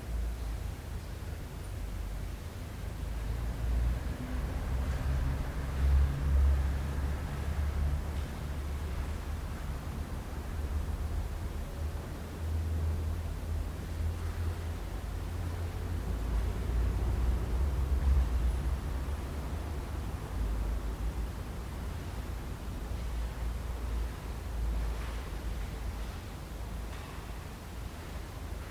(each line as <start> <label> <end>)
0.0 cars outside 28.7
24.8 steps 28.7